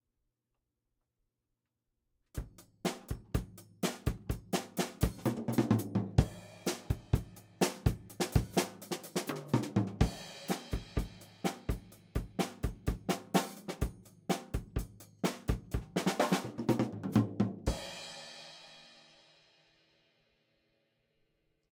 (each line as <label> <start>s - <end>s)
drumming 2.4s - 18.4s